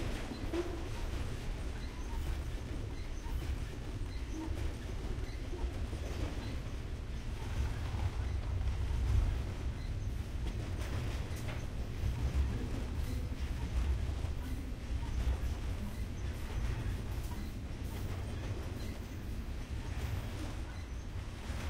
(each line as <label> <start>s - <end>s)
long freight train 0.0s - 21.6s